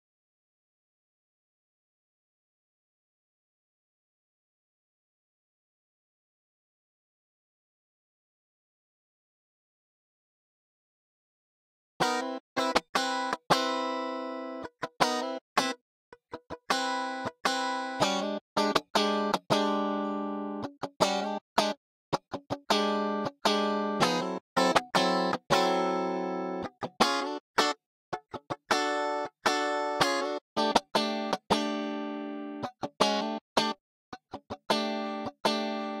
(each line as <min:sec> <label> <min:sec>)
0:12.0 GUITAR 0:36.0